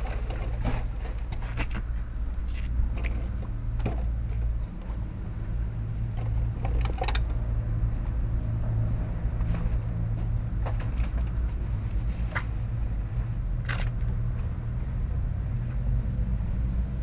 Recycling paper and plastics 0.0 - 1.9

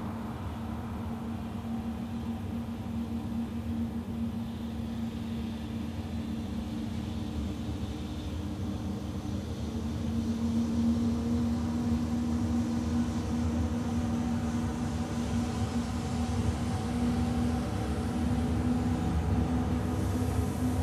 trains 0.0 - 20.8

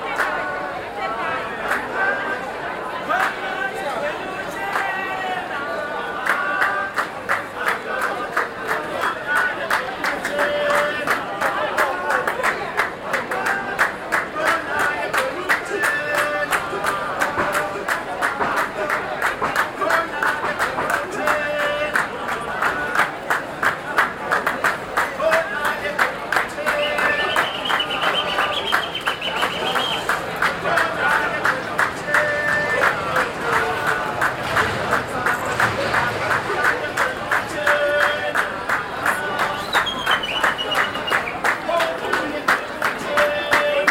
group performing a welcome-song 0.0 - 43.9

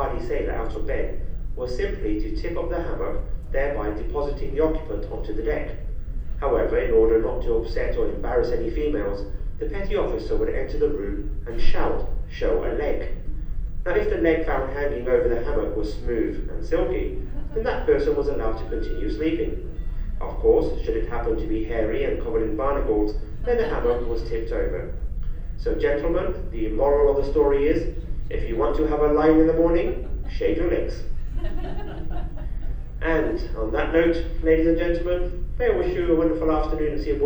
Announcement 0.0 - 5.8
Announcement 13.9 - 25.0
Announcement 25.6 - 37.2

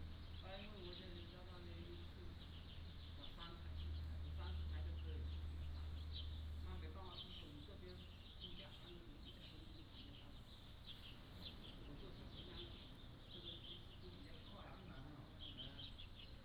Birdsong 0.0 - 16.4

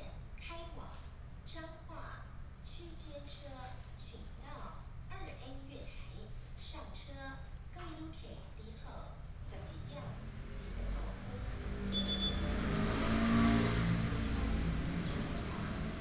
Train traveling through 9.6 - 16.0

